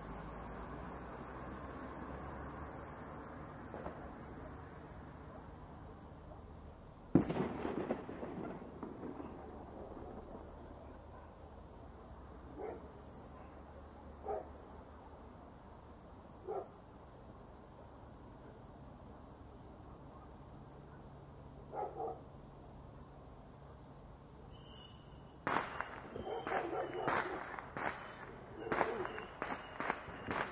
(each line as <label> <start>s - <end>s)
fireworks 3.6s - 4.4s
fireworks 7.1s - 11.3s
fireworks 25.4s - 30.5s